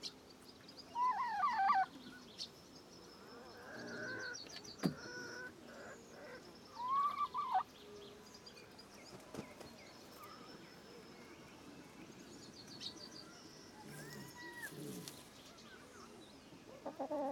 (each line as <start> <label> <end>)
0.9 chickens 2.1
3.2 chickens 7.8
13.7 chickens 17.3